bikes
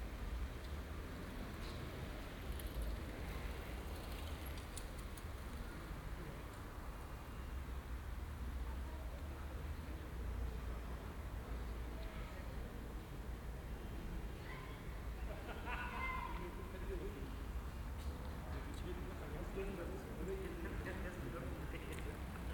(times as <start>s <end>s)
0.0s 7.8s